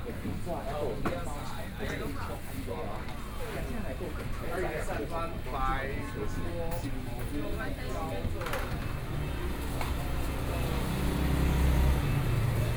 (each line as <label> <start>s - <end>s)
walking in the Fruit and vegetable wholesale market 0.0s - 12.7s
Traffic Sound 8.8s - 12.7s